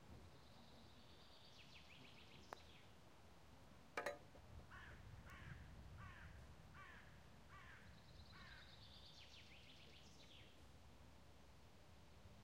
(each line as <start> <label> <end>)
4.7 crows croaking 8.7